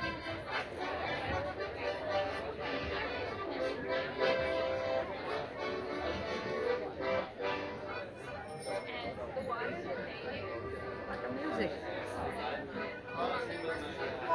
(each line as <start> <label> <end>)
0.0 music 9.0
0.0 crowd 14.3
0.0 street performers 14.3
10.2 music 14.3